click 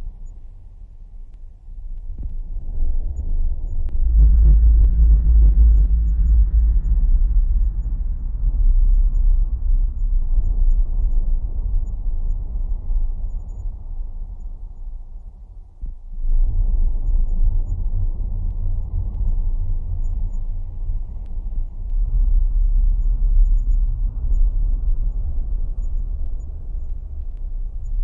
21.2s 22.0s

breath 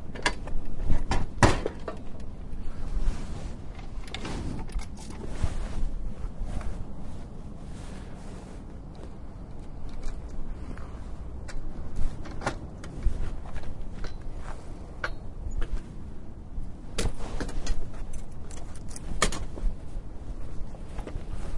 10.5s 11.2s

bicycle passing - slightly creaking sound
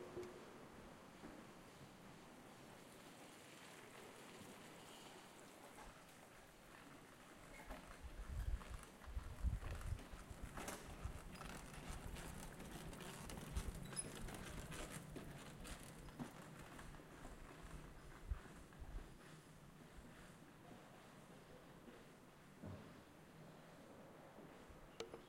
1.7s 21.5s

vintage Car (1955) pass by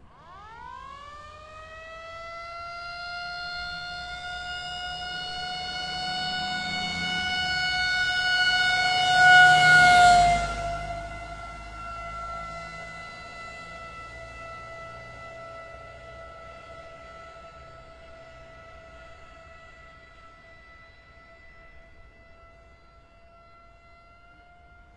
3.2s 22.8s

